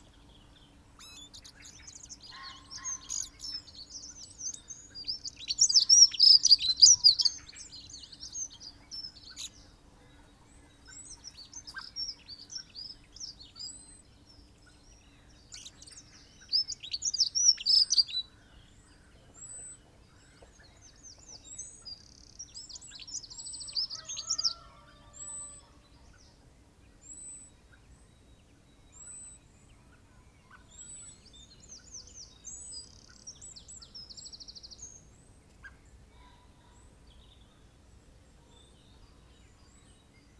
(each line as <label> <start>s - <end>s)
blackbird calls and song 0.0s - 40.3s